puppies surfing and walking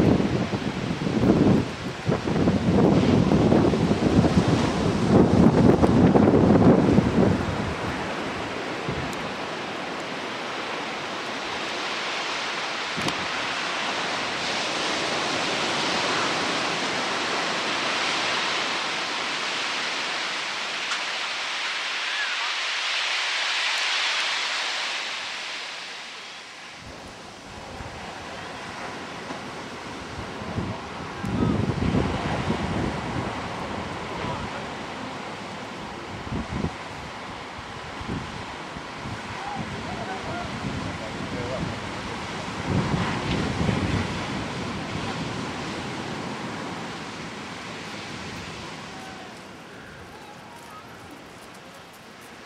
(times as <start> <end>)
45.0 52.4